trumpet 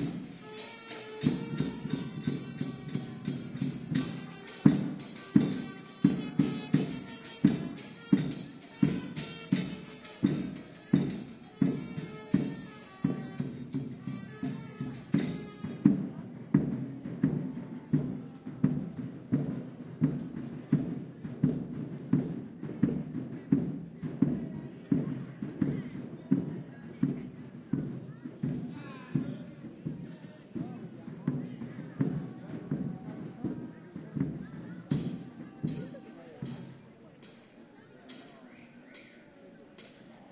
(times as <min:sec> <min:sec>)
0:00.0 0:16.1